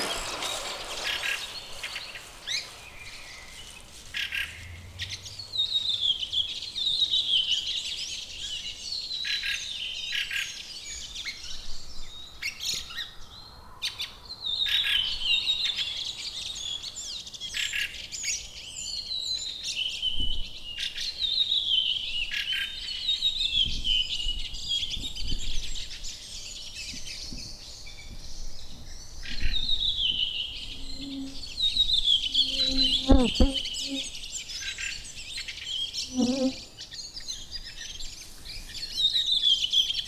0.0s cyclist rides by 6.2s
0.0s Birds singing 10.1s
10.7s Birds singing 40.0s

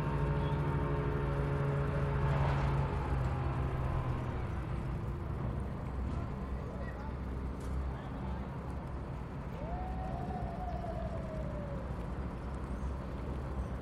0.0s cargo ship is being parked on the riverside 13.8s

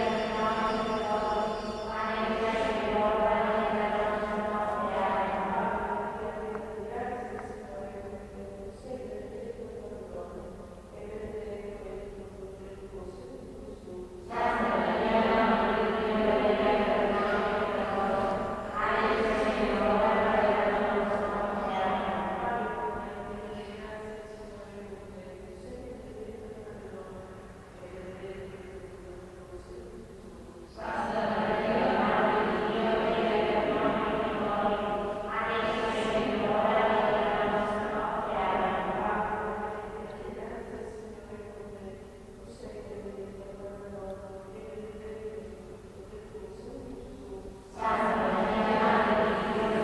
0.0s Nuns praying 49.8s

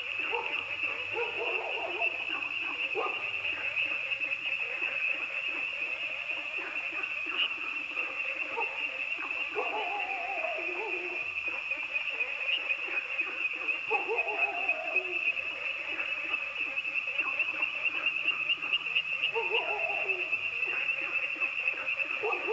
0.0s Frogs chirping 22.5s
0.1s Dogs barking 3.8s
8.4s Dogs barking 11.6s
13.8s Dogs barking 15.2s
19.2s Dogs barking 21.1s
21.8s Dogs barking 22.5s

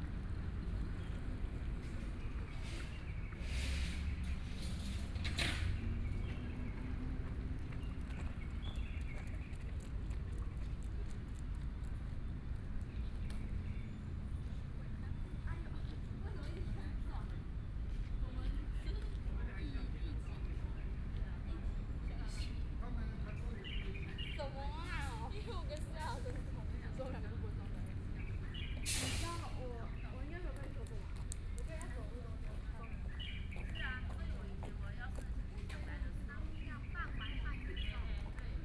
5.6s Birdsong 10.1s
23.3s Birdsong 25.1s
28.2s Birdsong 30.6s
29.6s Running and walking people 38.6s
31.8s Birdsong 34.5s
36.3s Birdsong 38.6s

